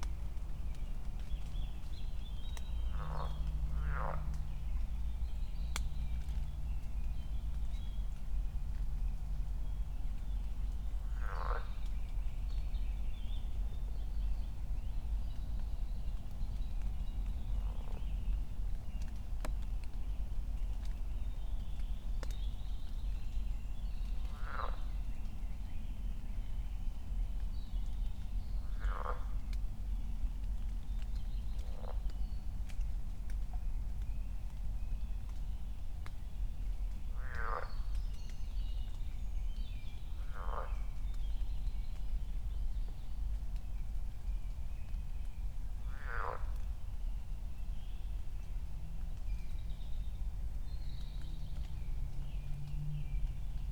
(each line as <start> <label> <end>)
0.0 raindrops 53.7
2.6 frogs 4.7
11.0 frogs 11.9
24.2 frogs 25.0
28.6 frogs 29.5
31.6 frogs 32.1
37.2 frogs 38.0
40.2 frogs 41.1
45.8 frogs 46.8